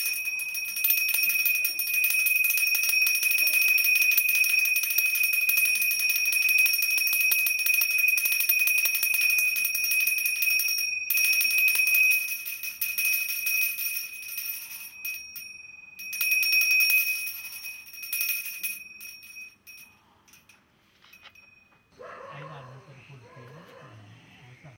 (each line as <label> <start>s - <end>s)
Copper Bell 0.0s - 22.6s